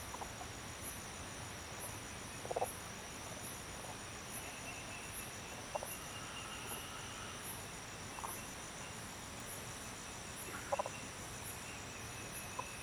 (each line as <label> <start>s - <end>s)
Various types of frogs chirping 0.0s - 12.8s